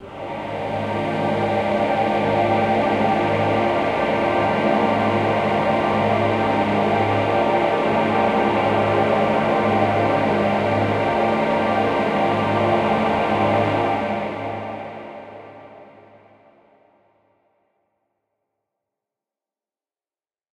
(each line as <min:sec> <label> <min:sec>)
0:00.0 Deep and dark dramatic choir 0:16.8